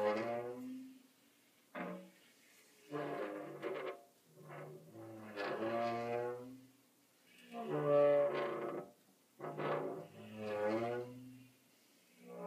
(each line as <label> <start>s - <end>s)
Squeaky Glass Door 2.8s - 6.4s
Squeaky Glass Door 7.5s - 11.1s